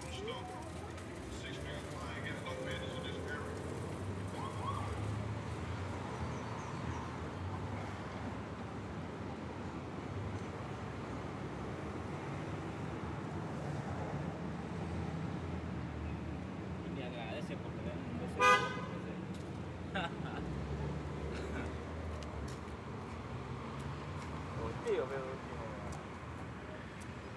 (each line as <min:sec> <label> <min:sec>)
0:00.0 cars 0:27.3
0:21.4 people walking 0:24.6